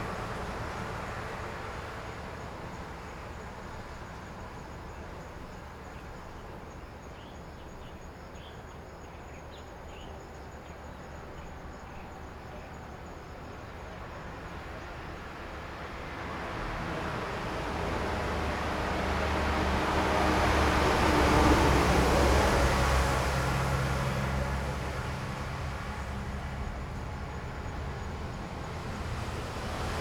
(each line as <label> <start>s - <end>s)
Traffic Sound 0.0s - 30.0s
Train traveling through 15.8s - 30.0s